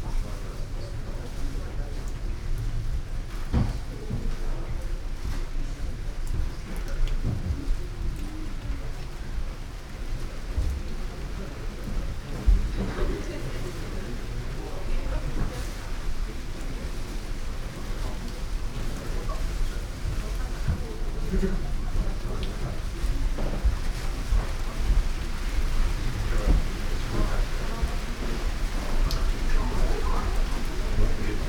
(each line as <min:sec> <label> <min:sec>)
0:00.0 raindrops on dry rock garden and kawara 0:31.4
0:05.6 rain gutter 0:31.4